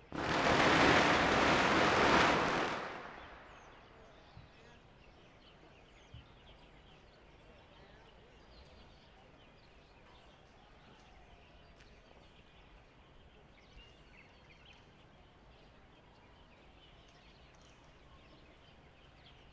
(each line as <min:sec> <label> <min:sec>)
0:00.0 firecrackers 0:03.9